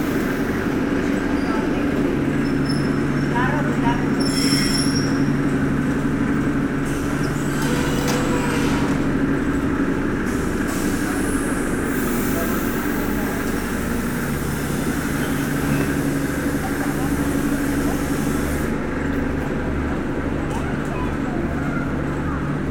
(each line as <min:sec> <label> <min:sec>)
0:00.0 train is arriving 0:22.7